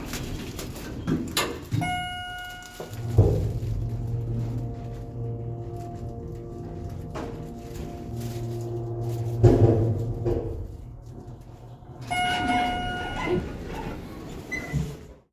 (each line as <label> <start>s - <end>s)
Elevator doors closing, operating and opening 0.0s - 15.3s
beeps 1.8s - 2.9s
beeps 12.0s - 13.5s